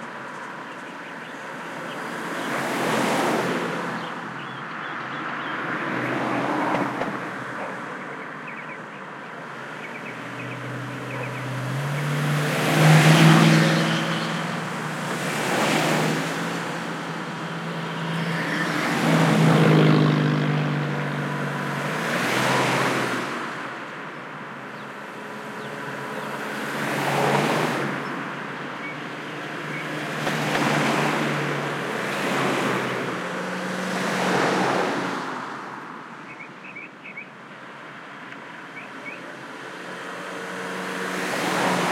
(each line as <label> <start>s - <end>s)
canyon traffic 0.0s - 41.9s